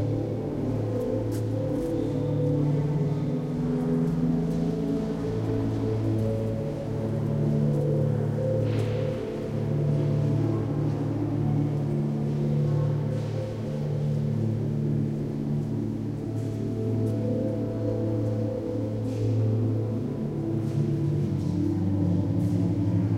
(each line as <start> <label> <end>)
0.6 Walking 2.6